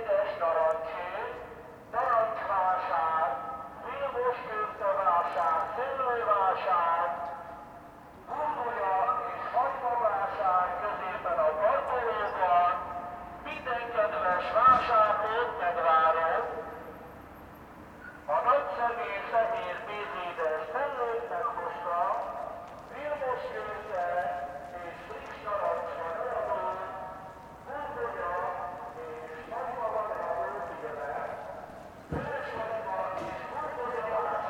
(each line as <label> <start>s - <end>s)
mobile megaphone amplified fruit vendour 18.3s - 34.4s